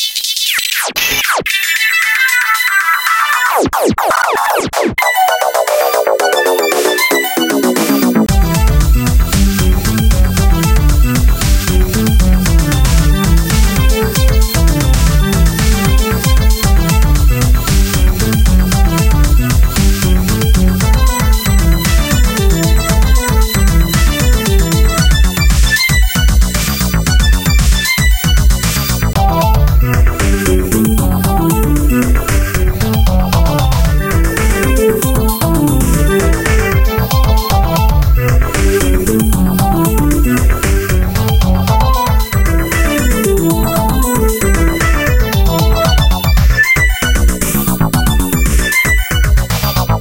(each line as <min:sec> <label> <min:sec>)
0:00.0 EDM Electro-Techno Loop 0:50.0